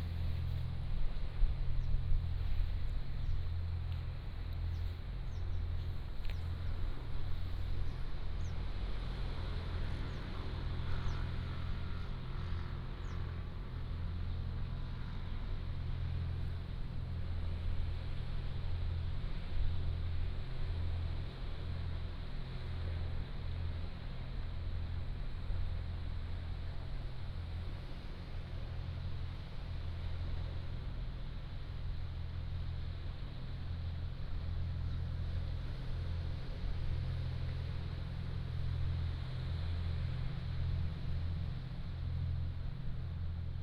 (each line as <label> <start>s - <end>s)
waves 0.0s - 43.6s